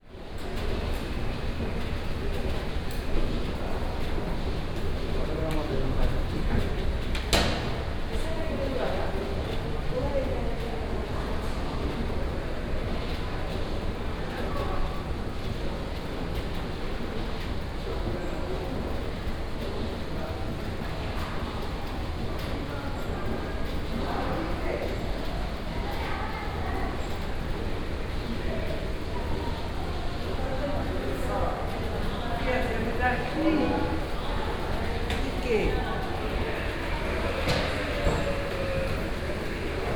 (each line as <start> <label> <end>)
34.0 elevator 39.9